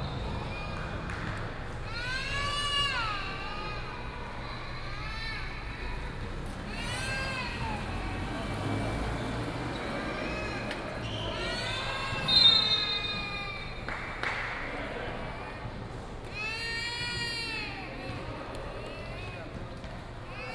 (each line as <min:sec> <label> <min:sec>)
0:00.0 Basketball game 0:20.5